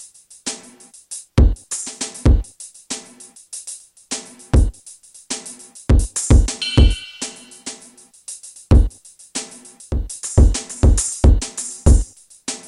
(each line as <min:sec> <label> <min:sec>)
0:01.4 drum 0:03.2
0:04.1 drum 0:07.9
0:08.7 drum 0:12.6